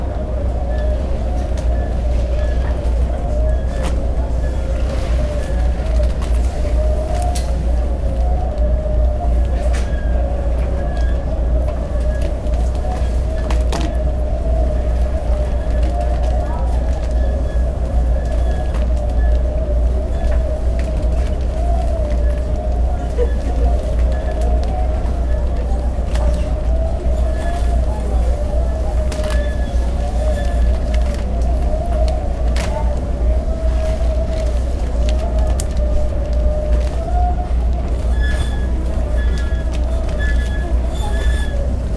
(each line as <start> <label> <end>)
0.0 luggage transportation belt 41.9
0.0 passengers talking 41.9